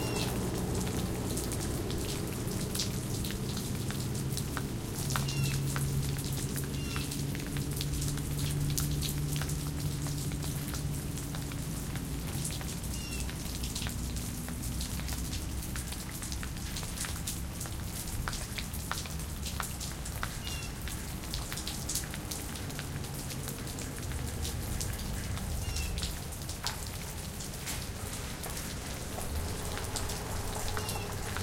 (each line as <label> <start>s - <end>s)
Medium rain from porch 0.0s - 31.4s
car 0.0s - 31.4s